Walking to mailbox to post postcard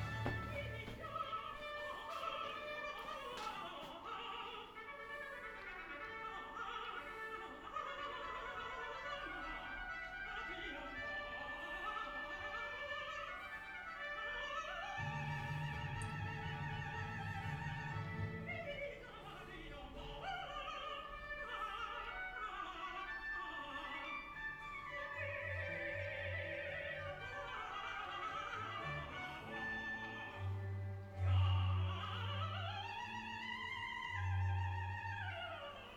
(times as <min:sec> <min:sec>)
0:00.0 0:03.6